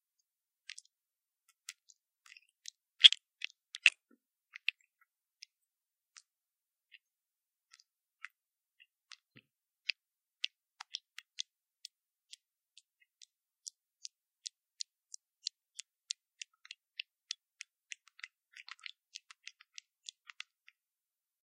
7.7s Wet sounds 20.8s

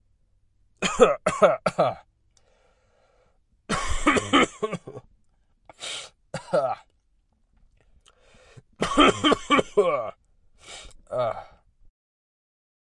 0.8s Sick Man Coughing into a microphone 2.0s
3.7s Sick Man Coughing into a microphone 5.1s
6.4s Sick Man Coughing into a microphone 6.9s
8.8s Sick Man Coughing into a microphone 10.2s

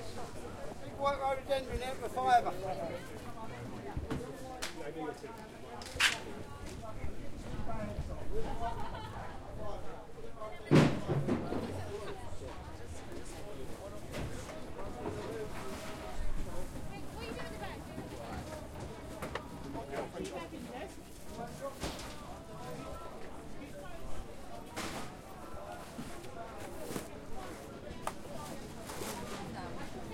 0.0s people 30.1s

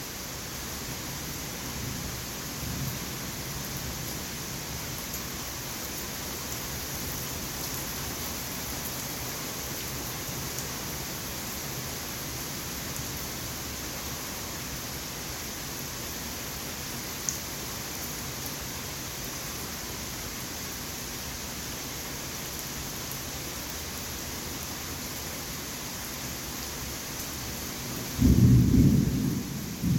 0.0s medium distant rainshower 29.9s
28.2s thunder rumbles and booms 29.9s

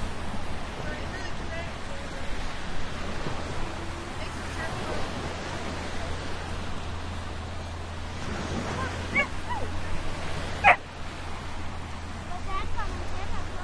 0.0s waves 13.6s
0.7s voices 13.6s

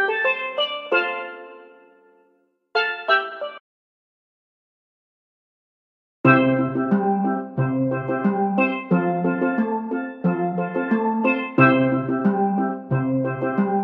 6.3s steel drums 13.8s

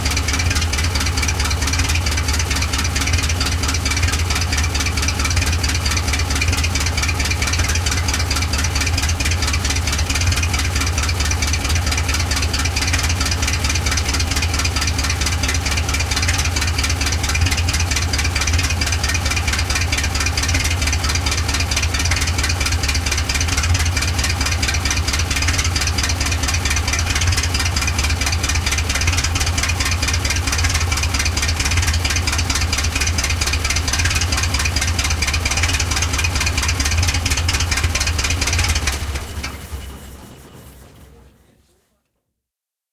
0.0s Tractor 41.5s

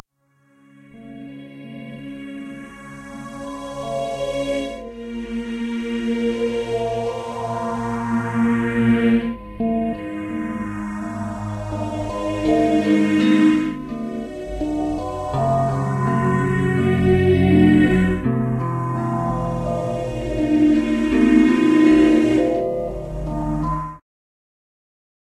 1.0s Phased Cello 23.8s
6.3s guitar 24.0s

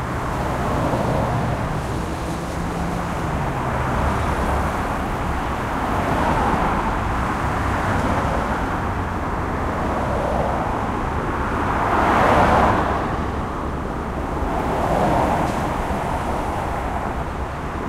0.0s Traffic 17.8s

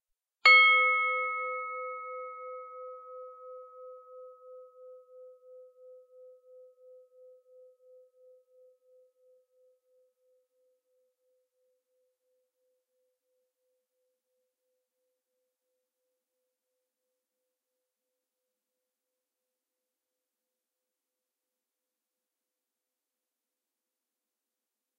0.5s steel bell struck with a wooden striker 3.2s

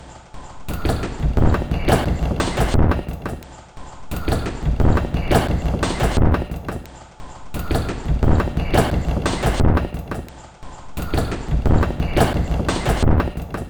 0.7s Drum Loop 3.4s
4.1s Drum Loop 6.9s
7.6s Drum Loop 10.3s
11.0s Drum Loop 13.6s

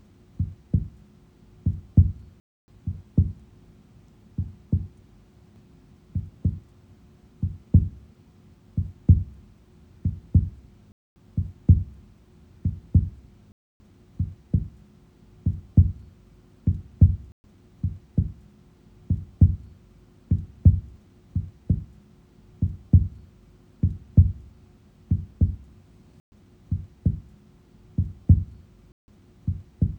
0.4s Heart Beating 1.0s
1.7s Heart Beating 2.3s
2.9s Heart Beating 3.4s
4.4s Heart Beating 4.9s
6.2s Heart Beating 6.6s
7.4s Heart Beating 8.0s
8.8s Heart Beating 9.4s
10.0s Heart Beating 10.6s
11.4s Heart Beating 12.0s
12.6s Heart Beating 13.3s
14.2s Heart Beating 14.8s
15.5s Heart Beating 16.1s
16.7s Heart Beating 18.4s
19.1s Heart Beating 19.7s
20.3s Heart Beating 22.0s
22.6s Heart Beating 23.2s
23.8s Heart Beating 24.5s
25.1s Heart Beating 25.7s
26.7s Heart Beating 27.3s
28.0s Heart Beating 28.6s
29.5s Heart Beating 29.9s

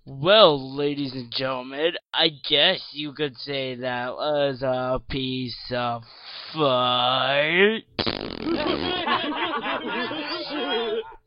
8.0s cheesy fart noise made with my mouth 9.1s
8.0s Radio Personality 11.2s
8.3s laughing 11.2s

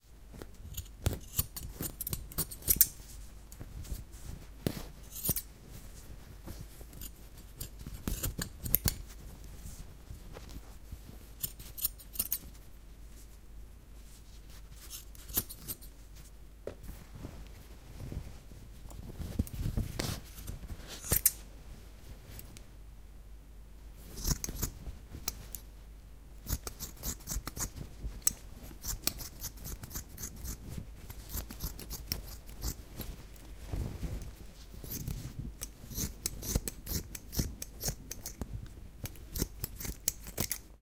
7.0s Scissor Cutting T-Shirt Cloth 9.1s
20.4s Scissor Cutting T-Shirt Cloth 21.4s
24.2s Scissor Cutting T-Shirt Cloth 24.8s
26.4s Scissor Cutting T-Shirt Cloth 33.1s
34.8s Scissor Cutting T-Shirt Cloth 40.7s

